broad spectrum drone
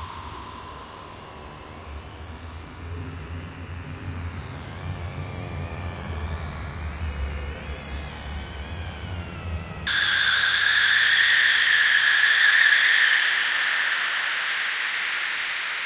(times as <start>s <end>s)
9.9s 15.8s